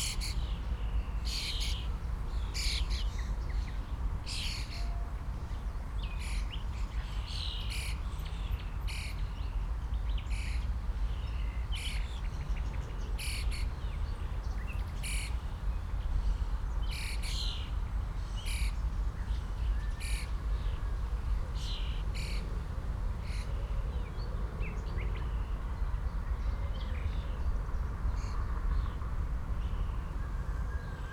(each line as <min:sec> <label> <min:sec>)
0:00.0 wind 0:31.1